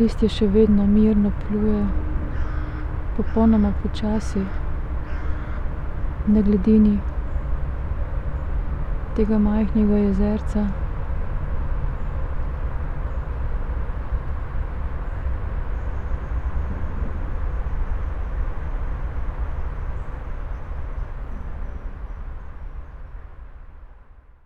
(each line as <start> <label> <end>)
0.0 words 2.1
2.3 crows 3.5
3.2 words 4.6
4.5 crows 5.8
6.3 words 7.1
9.2 words 10.8